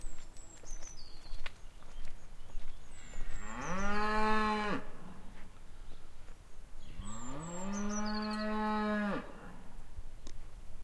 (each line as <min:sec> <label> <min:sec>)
0:03.4 Cow moo 0:05.2
0:07.0 Cow moo 0:09.6